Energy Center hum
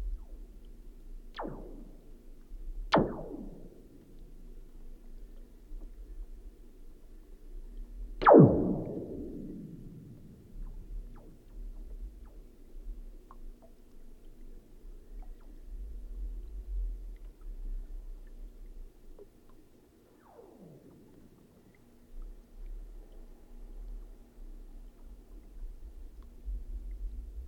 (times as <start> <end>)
1.4 5.1, 5.8 13.3